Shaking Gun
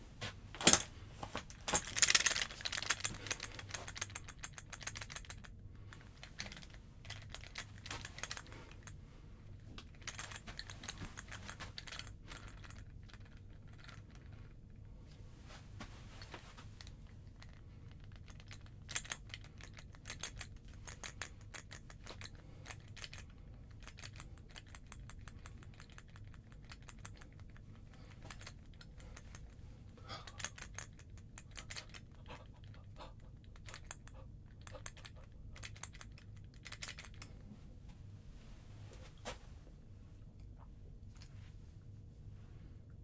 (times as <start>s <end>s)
0.6s 8.9s, 9.8s 14.3s, 16.8s 29.6s, 30.3s 37.3s